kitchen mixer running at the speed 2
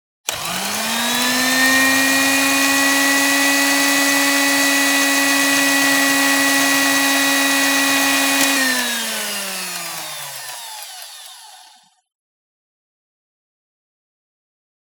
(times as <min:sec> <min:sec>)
0:00.3 0:12.0